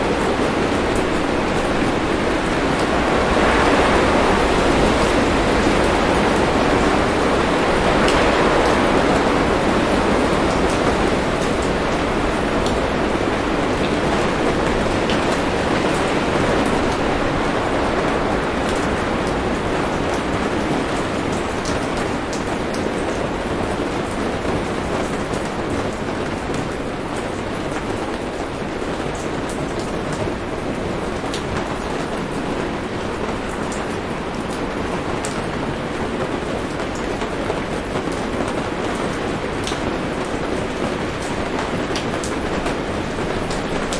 Wind Gusts 0.0 - 25.5
heavy rain 0.0 - 43.9

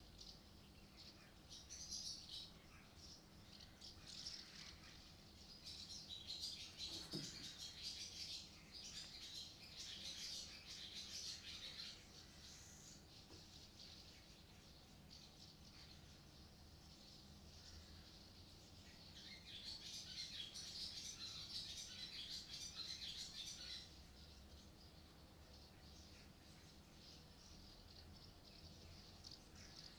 dove 0.0 - 29.9
eurasian blackbird 0.0 - 29.9
sparrow 0.0 - 29.9

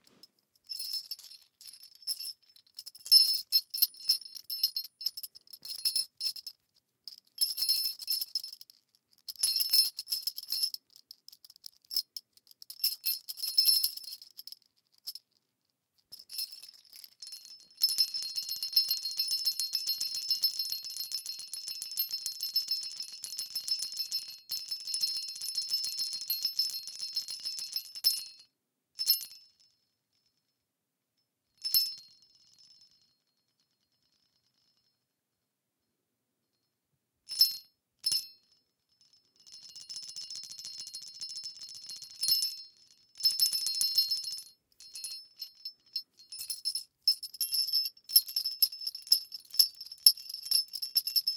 small indian jingle bells 0.1 - 15.3
small indian jingle bells 16.1 - 30.6
small indian jingle bells 31.5 - 35.1
small indian jingle bells 37.3 - 51.3

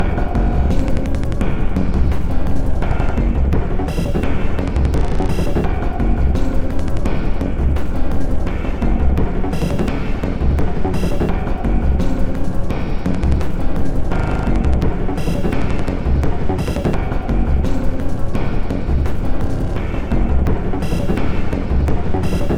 Drum Loop 2.0 - 6.4
Drum Loop 8.5 - 12.1
Drum Loop 14.1 - 17.5
Drum Loop 19.8 - 22.5

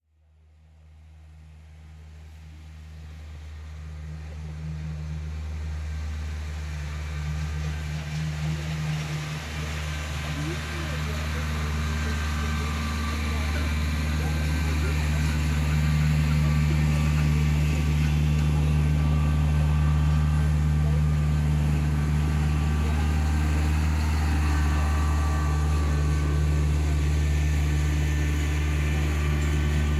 tractor passing by slowly 0.7 - 29.9

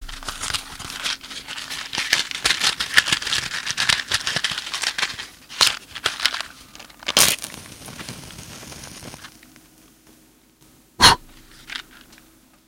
match strike 7.1 - 9.4

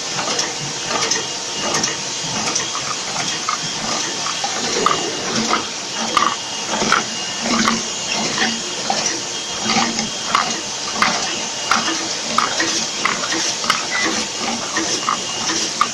Liquid chlorine packaging plant 0.0 - 15.9

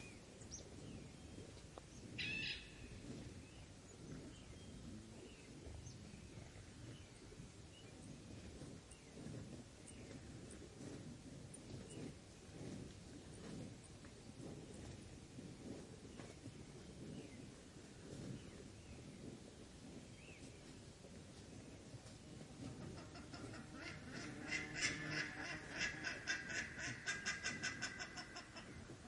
grass munching cow 0.0 - 29.0
buff necked ibis 2.2 - 3.0
buff necked ibis 22.6 - 29.0

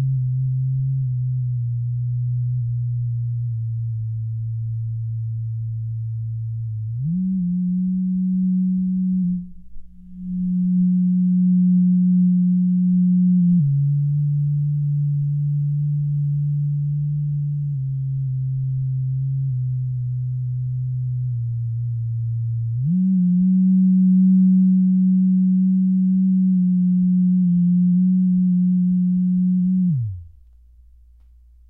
vibrator 0.0 - 30.4

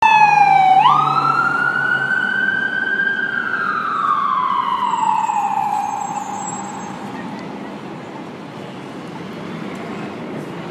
ambulance 0.0 - 10.3

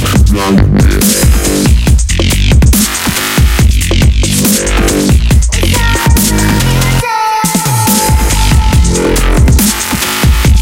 Bass 0.0 - 7.0
Bass 7.8 - 10.6

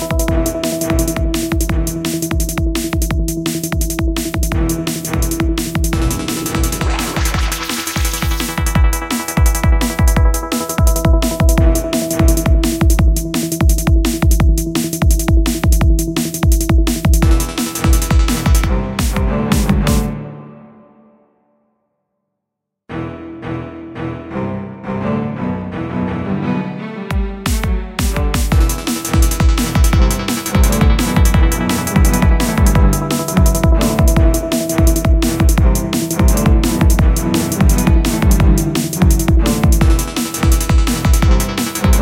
song 0.0 - 21.3
song 25.9 - 42.0

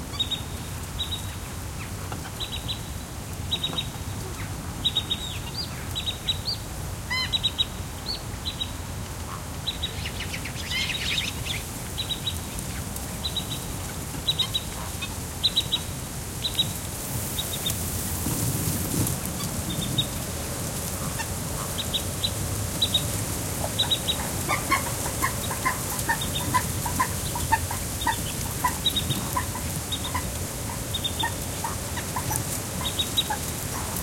bird callings (mostly Black-winged Stilt) 20.9 - 34.0

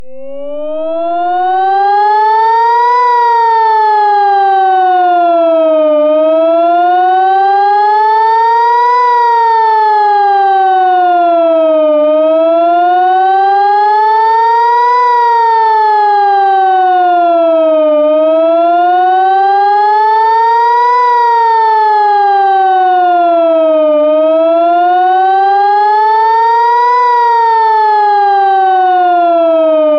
Israeli sirens using synth 0.0 - 29.9

